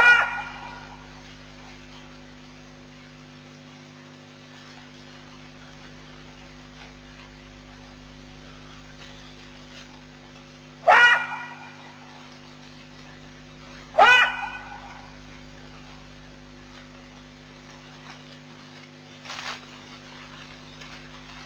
0.0s Jackal sounds 1.1s
10.8s Jackal sounds 12.2s
13.9s Jackal sounds 15.3s

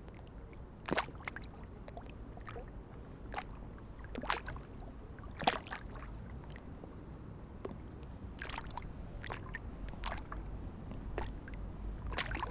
0.0s wind 12.5s
8.3s small waves crash on the border 12.5s

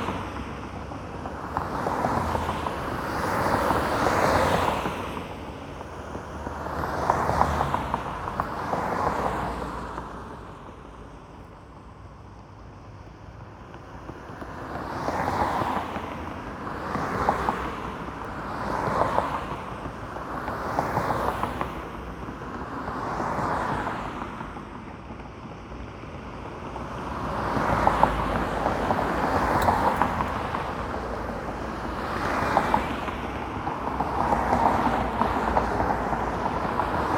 13.4s Wheels clacking on joints between concrete road slabs 37.1s

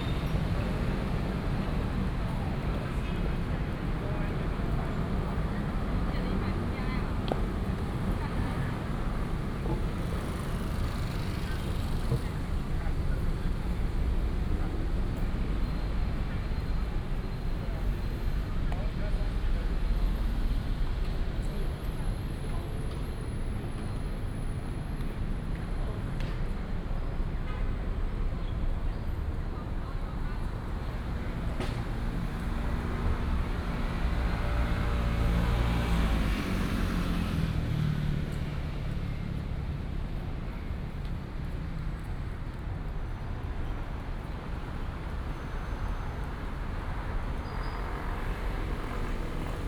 0.0s Traffic Sound 49.6s

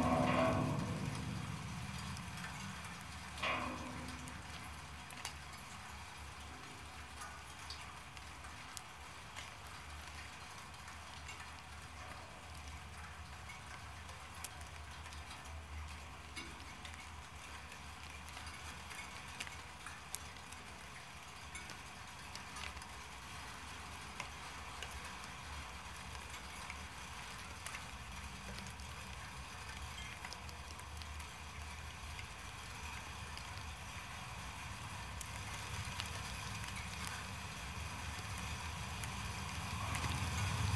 0.0s Snow on a wire construction fence 5.0s
26.2s Snow on a wire construction fence 40.7s

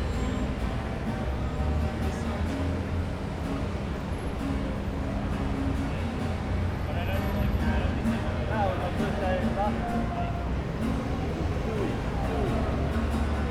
0.0s guitarist 13.5s

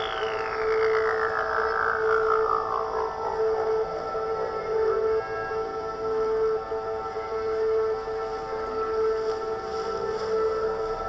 0.0s electronics 3.7s

